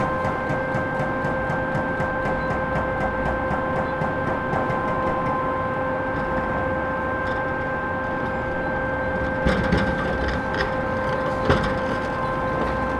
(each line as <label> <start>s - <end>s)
crane with grapple demolishes the building 0.0s - 12.9s
noise of different excavators 0.0s - 12.9s
excavator with mounted jackhammer demolishes building elements 9.2s - 12.9s